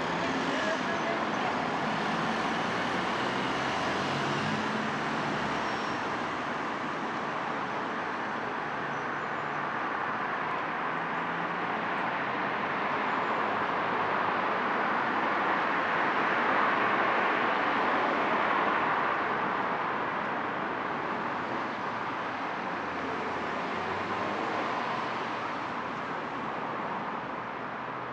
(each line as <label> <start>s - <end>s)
distant passer-by chatter 0.0s - 4.4s
vehicles 0.0s - 28.1s